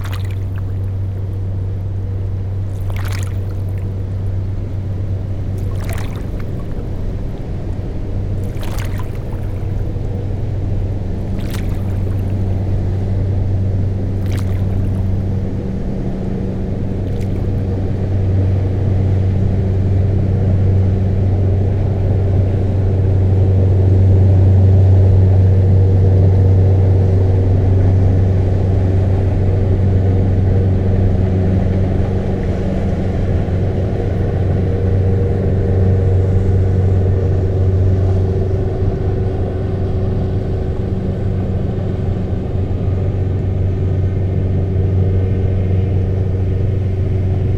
0.0s river flowing 15.9s
0.0s boat passing by on the Seine river 47.5s

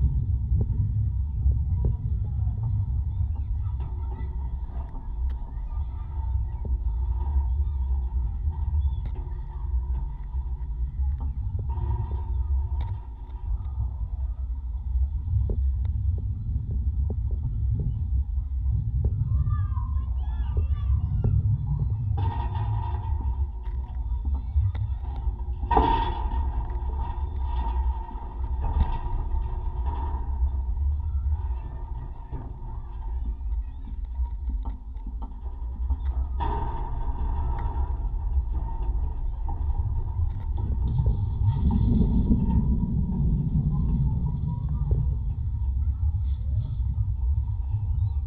0.0s footbridge 48.2s

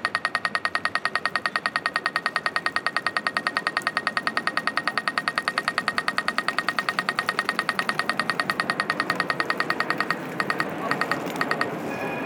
5.6s dense traffic 12.2s

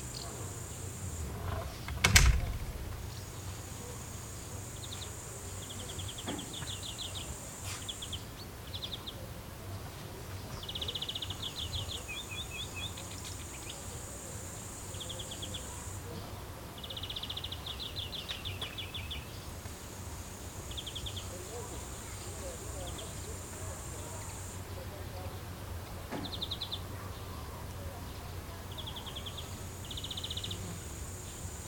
0.0s voices 8.3s
0.0s birds 31.6s
0.0s bushcrickets 31.6s
1.6s tin roof snaps 3.0s
1.8s door slams 3.1s
8.9s voices 19.8s
20.5s voices 31.6s

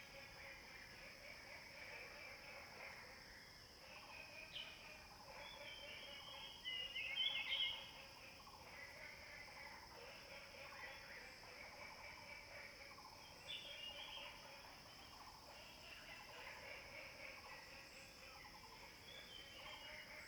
12.2s Frogs chirping 20.2s

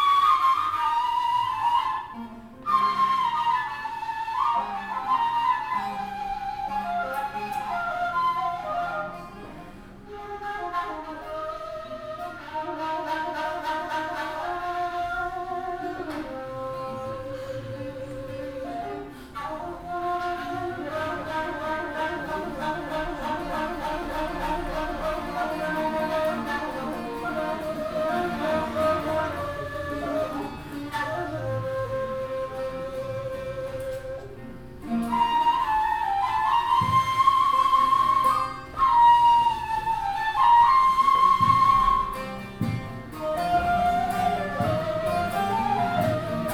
16.3s Poems recited 32.5s

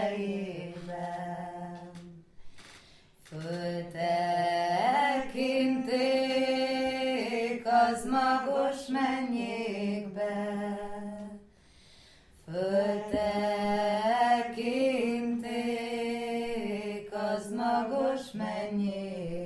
0.0s Hungarian folk song 19.4s

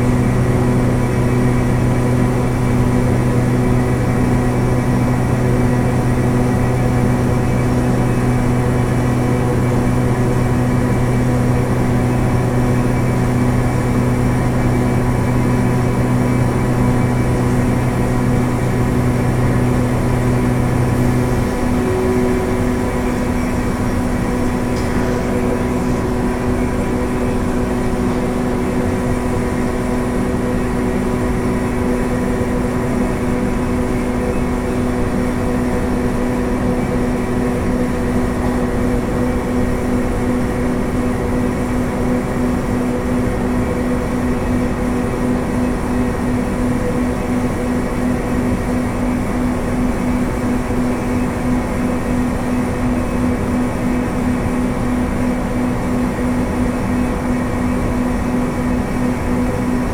0.0s factory ventilation 59.9s

